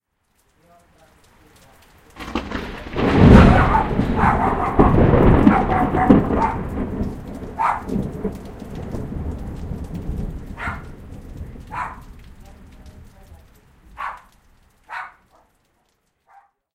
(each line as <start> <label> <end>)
0.0 rain 16.6
2.2 Verry loud thunderclap 14.2